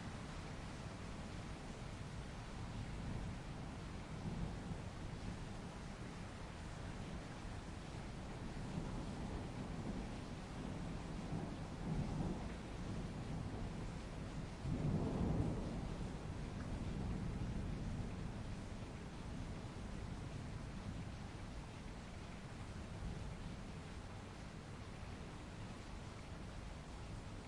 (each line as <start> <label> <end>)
0.0 Torrential downpour 27.4
0.0 wind 27.4
8.4 thunder 19.0